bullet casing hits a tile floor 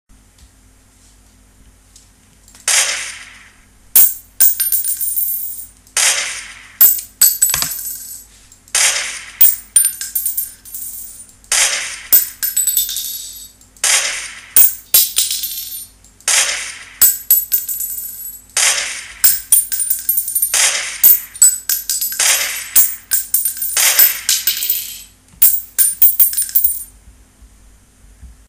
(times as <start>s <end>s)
4.0s 5.7s, 6.8s 8.2s, 9.4s 11.3s, 12.1s 13.6s, 14.6s 16.0s, 17.0s 18.5s, 19.2s 26.9s